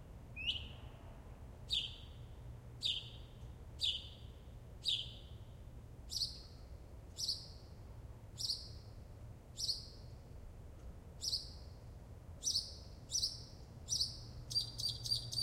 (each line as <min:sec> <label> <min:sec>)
0:01.7 mockingbird singing 0:02.1
0:02.8 mockingbird singing 0:03.2
0:03.8 mockingbird singing 0:04.2
0:12.4 mockingbird singing 0:15.4